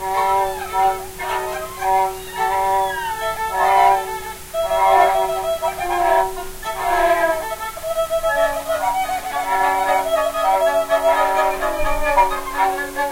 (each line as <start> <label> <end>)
0.0 kazoo 13.1
0.0 noisy violin phrases 13.1